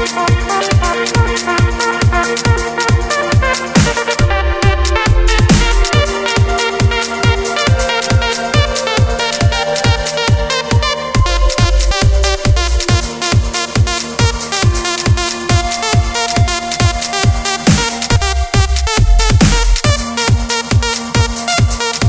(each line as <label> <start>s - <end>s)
bass 0.0s - 22.0s
synths 0.0s - 22.0s
hats 0.4s - 22.0s
snare 2.0s - 4.2s
snare 5.4s - 6.1s
snare 16.2s - 20.0s